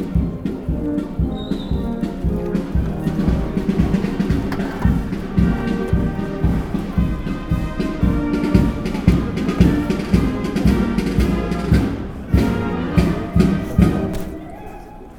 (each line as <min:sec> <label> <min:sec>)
0:00.0 firemen streetmusic 0:15.1
0:00.0 talks in the background 0:15.1